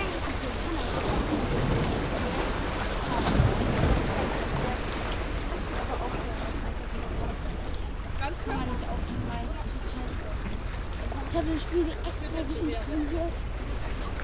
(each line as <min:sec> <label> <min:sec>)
0:08.0 german speaking young ladies 0:13.4